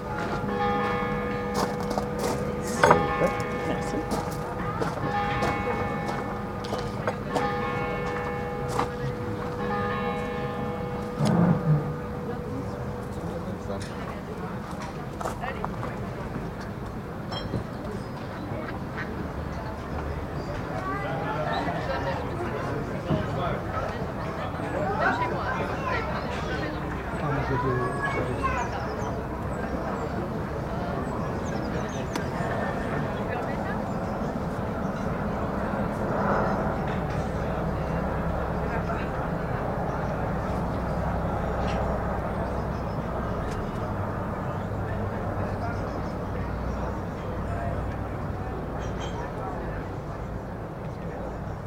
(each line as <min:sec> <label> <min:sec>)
0:00.0 bells 0:15.3
0:00.0 Train passing by on the other side 0:51.6
0:00.0 people talking and walking on the restaurant's dock 0:51.6
0:17.2 bells 0:17.7